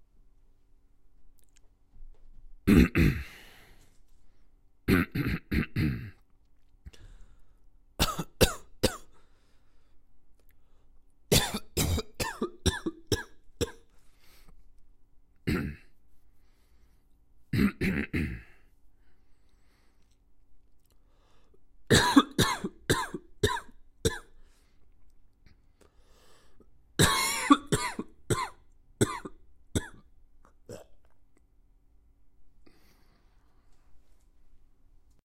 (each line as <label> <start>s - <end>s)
coughing 2.7s - 3.4s
coughing 4.9s - 6.2s
coughing 8.0s - 9.1s
coughing 11.3s - 13.9s
coughing 15.4s - 15.9s
coughing 17.5s - 18.6s
coughing 21.9s - 24.4s
coughing 27.0s - 31.2s